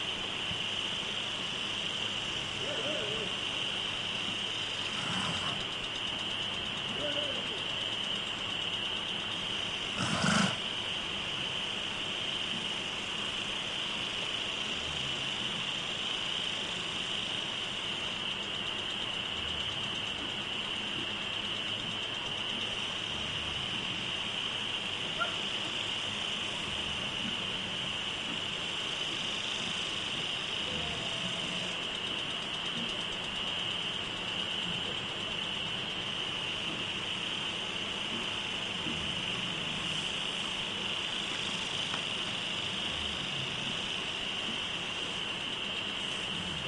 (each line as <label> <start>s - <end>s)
crickets 0.0s - 46.6s
noise of a lawn sprinkler 0.0s - 46.6s
close horse snorts 4.9s - 5.6s
close horse snorts 10.0s - 10.6s
distant dog barkings 25.0s - 25.5s